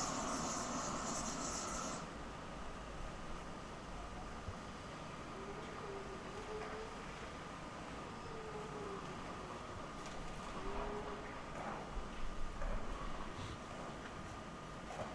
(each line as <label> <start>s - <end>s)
distant circle saw 0.0s - 2.2s